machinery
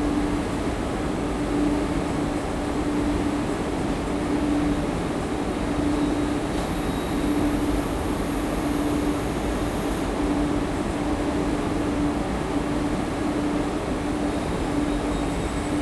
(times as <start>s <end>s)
5.9s 10.4s